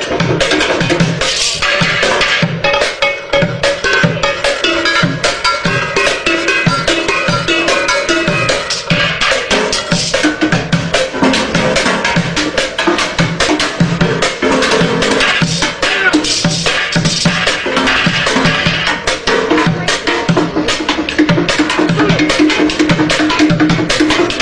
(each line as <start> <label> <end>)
0.0 african street drummer 24.4